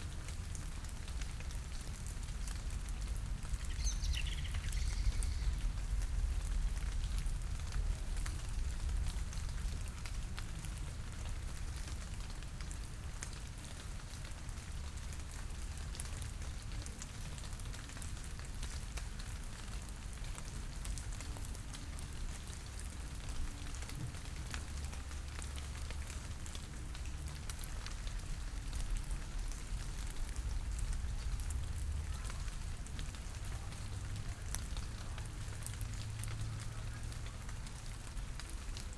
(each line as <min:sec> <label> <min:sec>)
0:00.0 rain drops falling from the leaves 0:38.9